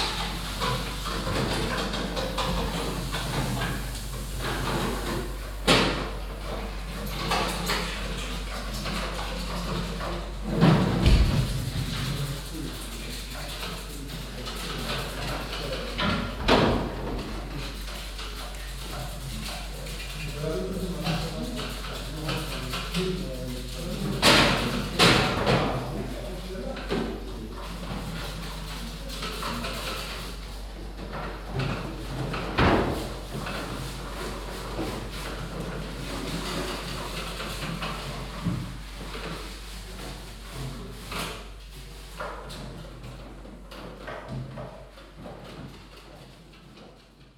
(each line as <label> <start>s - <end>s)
cleaning transport boxes 0.0s - 25.0s
people washing vegetables 0.0s - 47.3s